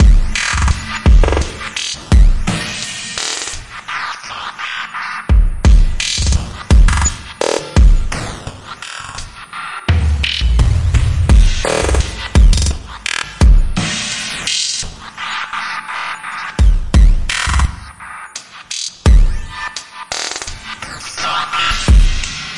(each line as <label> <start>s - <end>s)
Glitch Drum loop 0.0s - 22.5s